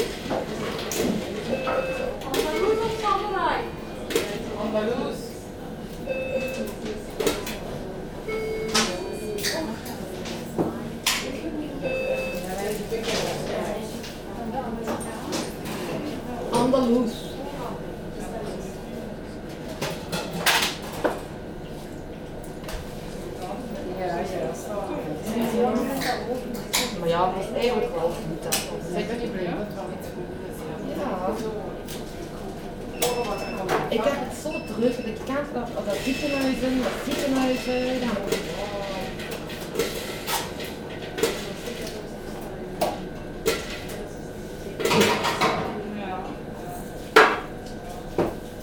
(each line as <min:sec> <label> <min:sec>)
0:00.6 people are speaking dutch 0:19.5
0:22.7 people are speaking dutch 0:39.9